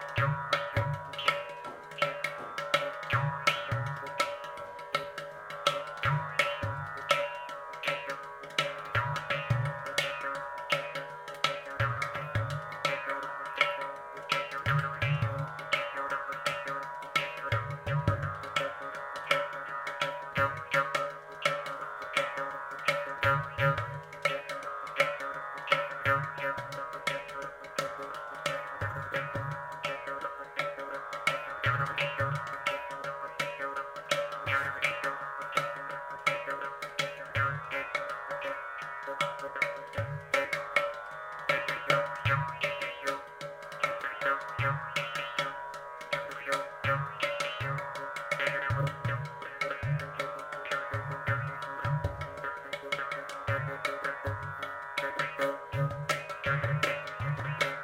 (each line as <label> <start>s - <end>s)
Ghatam 0.0s - 57.8s